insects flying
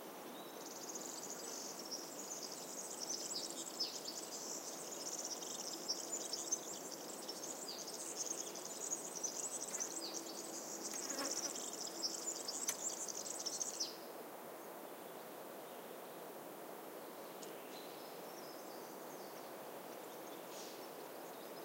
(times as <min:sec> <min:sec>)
0:04.3 0:13.8